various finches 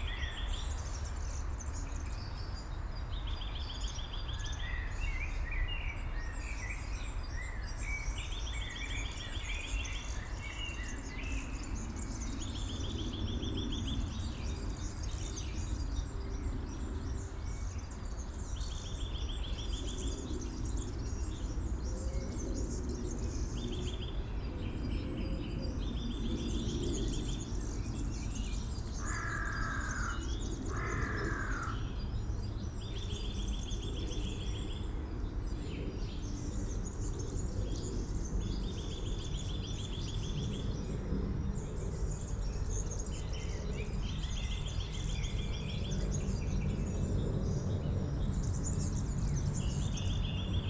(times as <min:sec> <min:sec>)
0:28.9 0:31.8